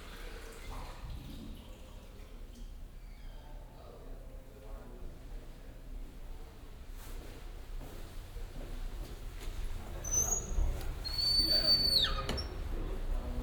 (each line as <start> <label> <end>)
0.0 watersounds in the restroom 7.0
7.0 footsteps 9.9
8.0 watersounds in the restroom 13.4